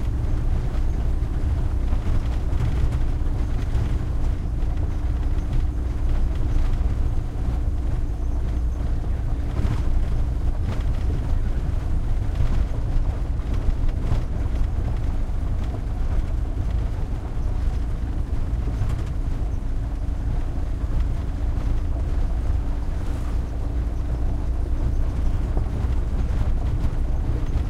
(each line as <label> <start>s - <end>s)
truck van int driving medium speed bumpy dirt road3 0.0s - 27.6s